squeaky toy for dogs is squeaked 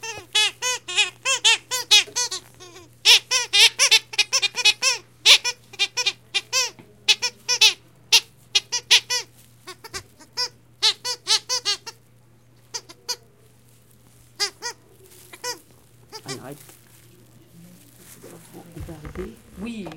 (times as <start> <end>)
0.0 12.0, 14.3 16.4